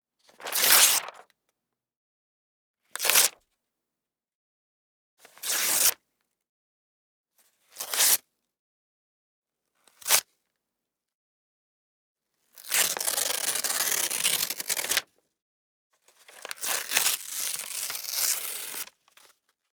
0.4s paper tearing 1.2s

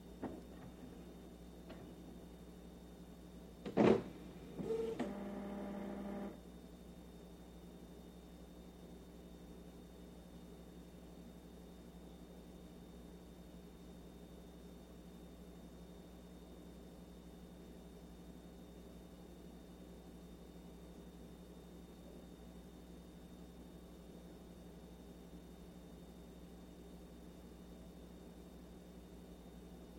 3.7s printer turn on 6.4s

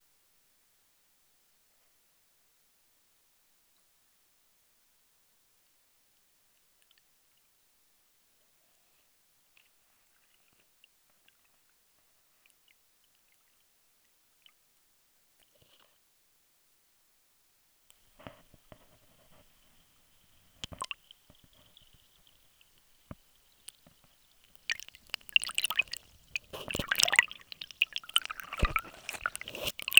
18.2s Discreet water flows 29.9s

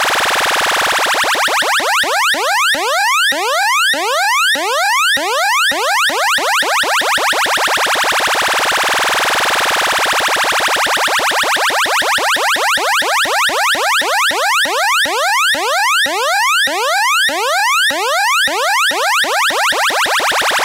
0.0s Cartoon-like siren 20.6s

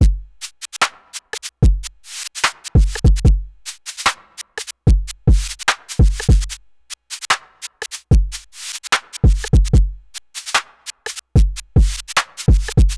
0.0s hi hat sound 12.9s
0.4s snare 4.8s
4.1s clap 4.6s
5.4s snare 12.9s
5.7s clap 6.2s
7.3s clap 7.8s
9.0s clap 9.4s
10.6s clap 11.2s
12.2s clap 12.7s

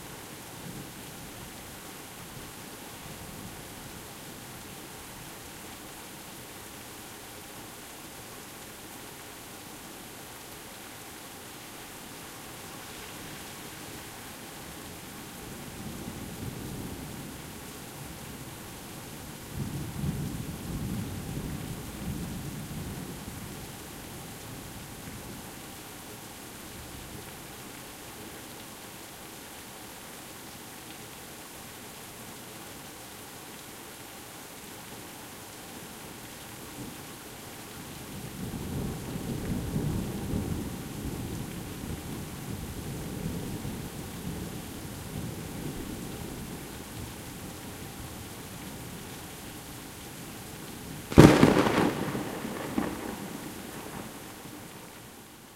51.1s rolling thunder 54.4s

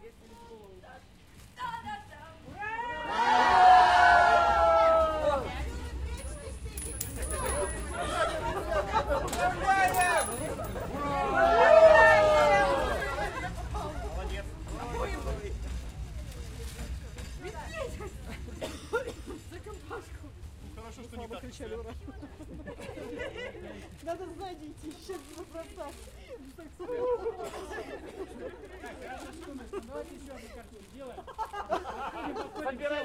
0.0s Conversations in Russian 3.1s
0.0s rustle of the wrapper of the bouquets 2.4s
2.6s Cheers 5.6s
5.3s Conversations in Russian 11.5s
6.2s Coins are poured onto concrete steps 8.0s
11.0s Cheers 13.3s
12.5s Conversations in Russian 33.0s
12.8s rustle of the wrapper of the bouquets 32.8s

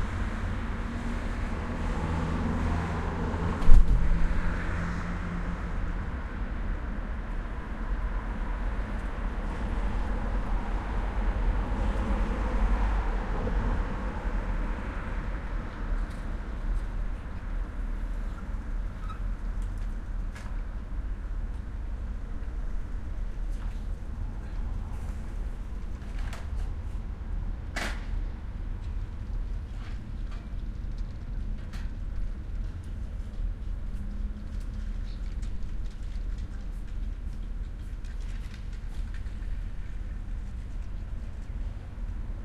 0.0s cars passing 6.8s
0.0s bus is passing 42.4s

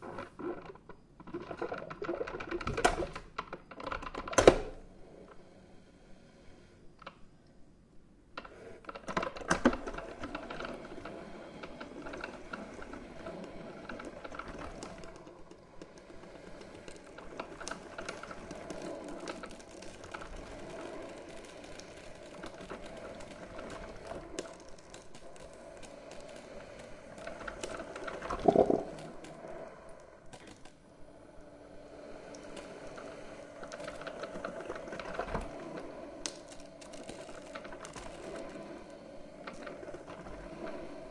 8.4s coffemaker brewing a cup of coffee 30.8s

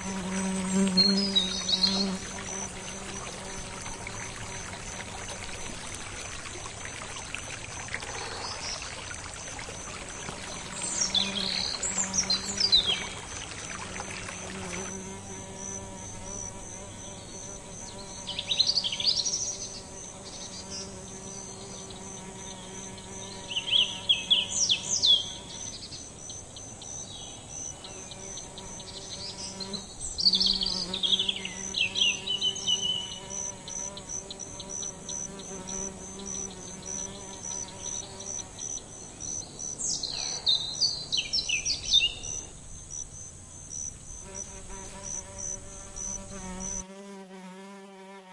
0.0s creek 47.2s
0.0s fly 48.3s

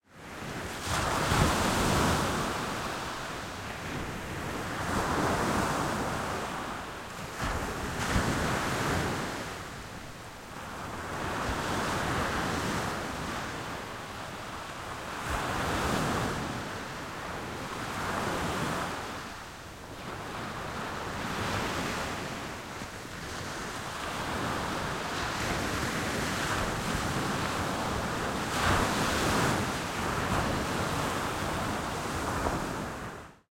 0.1s waves 33.4s

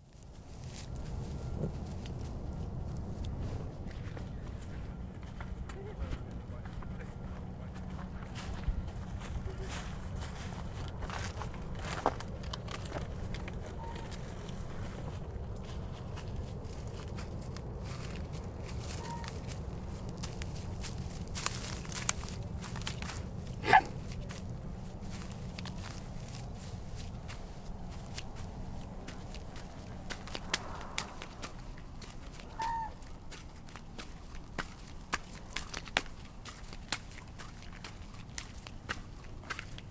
0.0s Swan Waddle Gravel to Grass to Swim 39.9s
0.0s air traffic 39.9s
18.9s swan making noises 19.4s
32.4s swan making noises 33.1s

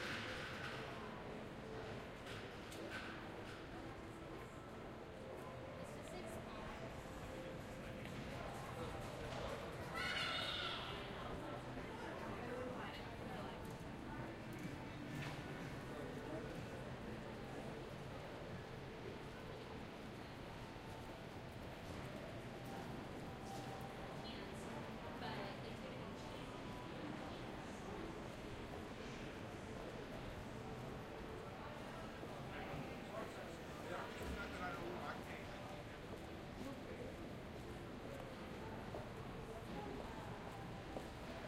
0.0s people 41.4s

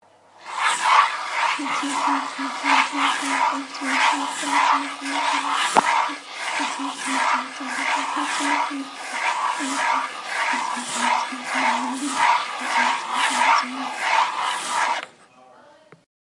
0.5s voices 16.0s

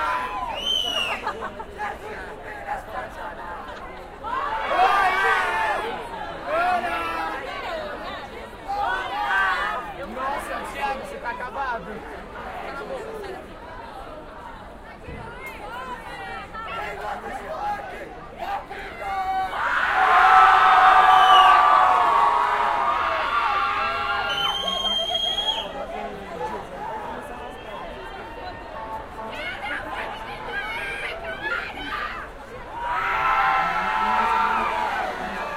0.0s cheering 1.5s
0.0s crowd 35.5s
4.2s cheering 8.0s
18.4s cheering 25.8s
19.5s screaming 24.8s
30.4s cheering 35.5s

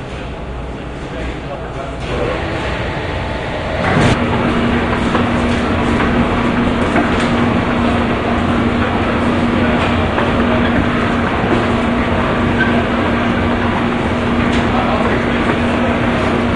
1.9s Baggage Conveyor 16.5s

